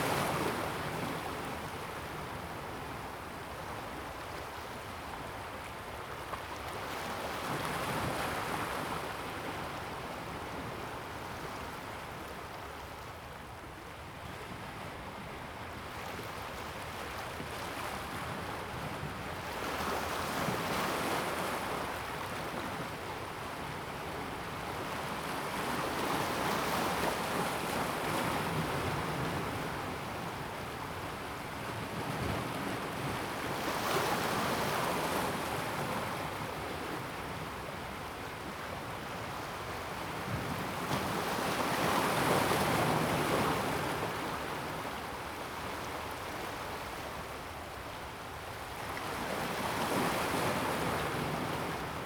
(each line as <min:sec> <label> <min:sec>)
0:00.0 Stream 0:52.0
0:00.0 waves 0:52.0